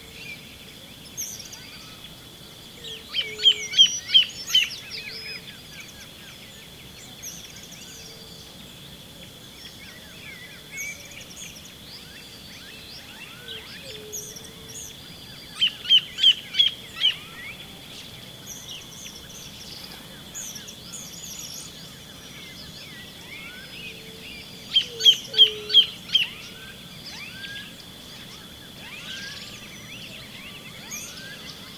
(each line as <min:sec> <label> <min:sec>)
0:00.0 Song and calls of birds 0:31.7
0:00.0 Waterfall noise in the background 0:31.7